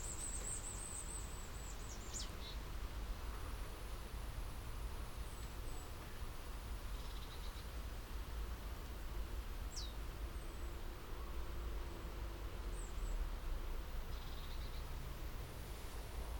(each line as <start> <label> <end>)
0.0 drones of distant vehicular traffic 16.3
0.0 soft to strong breezes 16.3